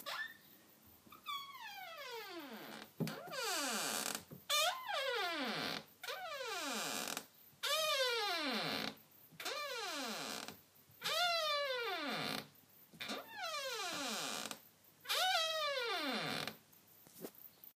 Creaky door opened and closed 0:00.0 - 0:00.5
Creaky door opened and closed 0:01.1 - 0:16.6

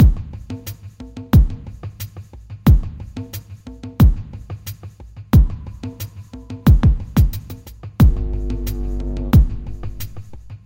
drum 0:00.0 - 0:10.6

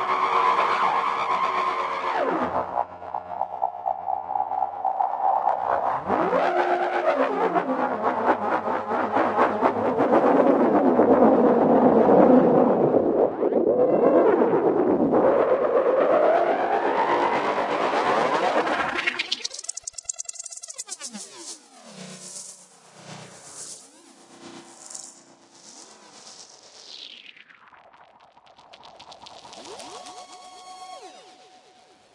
Noisy space effects 0:00.0 - 0:32.1

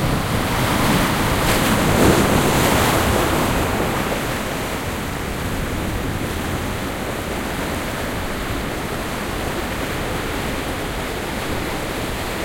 breaking waves 0:00.0 - 0:12.4

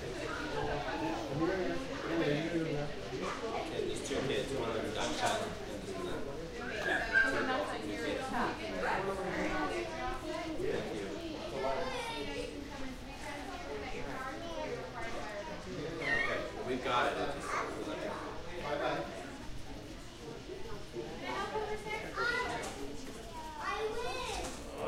children 0:00.0 - 0:02.2
children 0:04.9 - 0:24.8

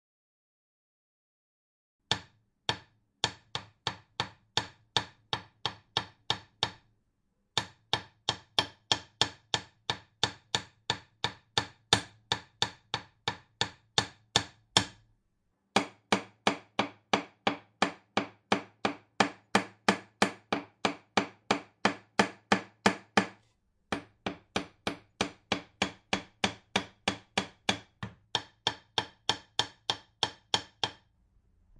Hammering the nail 0:02.1 - 0:06.9
Hammering the nail 0:07.6 - 0:15.0
Hammering the nail 0:15.8 - 0:31.1

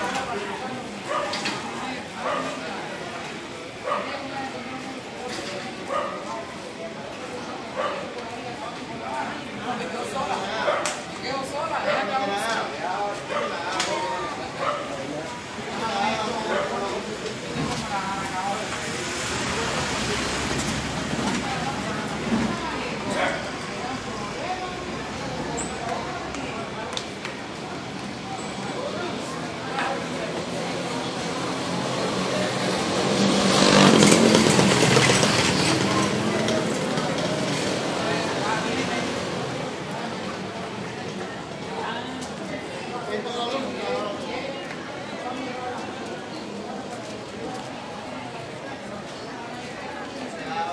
cars 0:00.0 - 0:50.6
people 0:00.0 - 0:50.7
carts 0:11.9 - 0:42.7

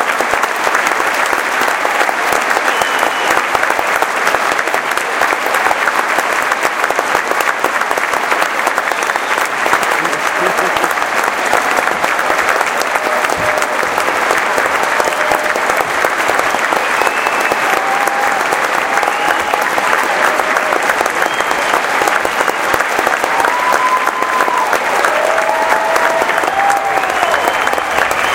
Applause 0:00.0 - 0:28.3
cheering 0:00.0 - 0:28.3
whooping 0:10.2 - 0:15.8
whooping 0:16.7 - 0:22.4
whooping 0:23.2 - 0:28.3

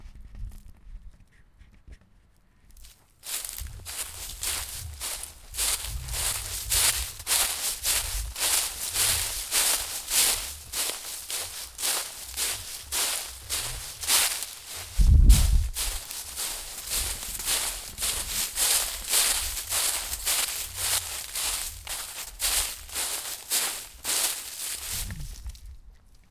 walking through Autumn leaves scattered on the ground 0:02.8 - 0:25.7

